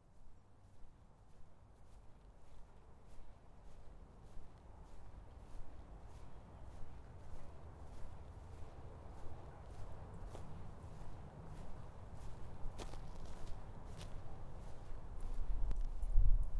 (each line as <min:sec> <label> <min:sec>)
0:00.0 Walking the dog 0:16.5